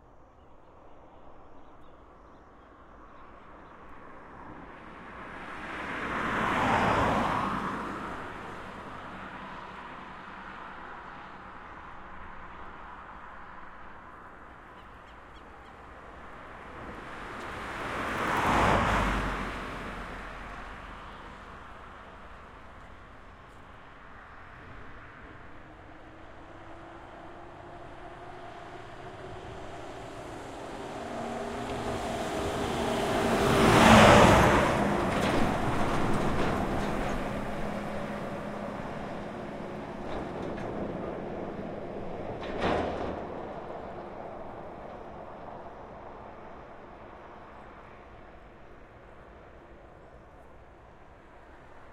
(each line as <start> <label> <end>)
0.1 birds on background 4.4
2.0 Heavy cargo trucks pass by left to right and right to left 51.9
2.9 cars 51.9